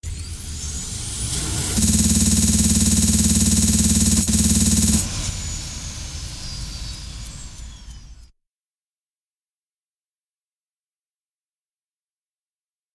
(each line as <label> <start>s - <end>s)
minigun sound 1.8s - 5.1s